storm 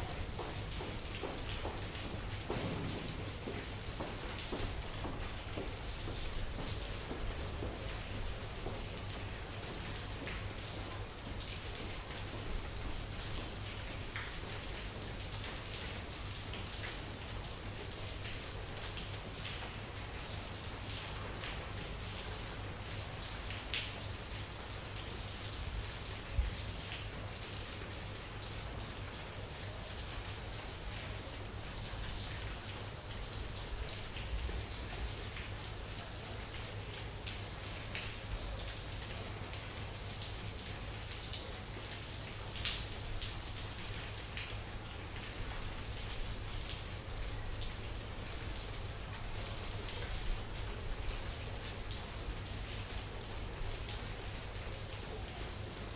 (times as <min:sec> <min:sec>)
0:01.5 0:05.3